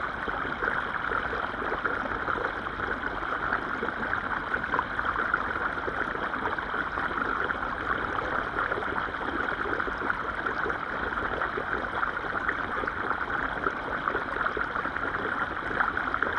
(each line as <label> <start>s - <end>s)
sinking pipe of the fountain 0.0s - 16.3s